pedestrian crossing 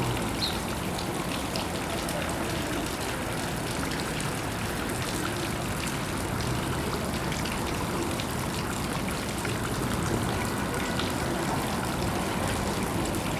0.0s 3.6s

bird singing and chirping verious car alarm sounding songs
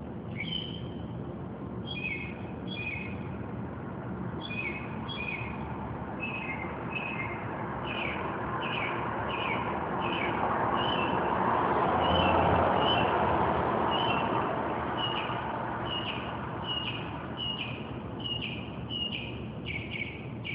0.3s 1.1s, 1.8s 3.2s, 4.4s 11.2s, 12.0s 13.1s, 13.9s 14.4s, 15.0s 20.5s

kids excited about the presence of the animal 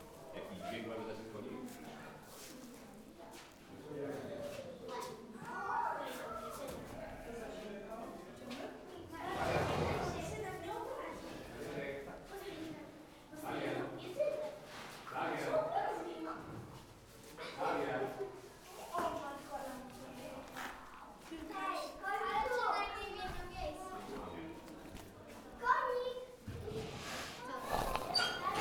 4.9s 6.9s, 18.8s 24.2s, 25.4s 28.6s

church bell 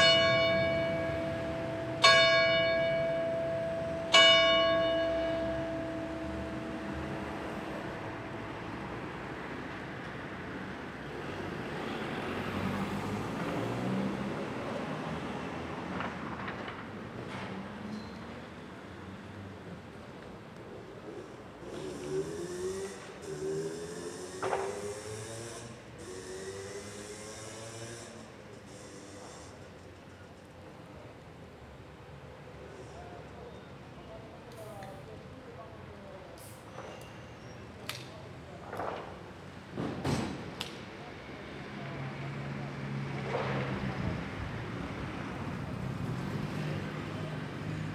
0.0s 8.6s

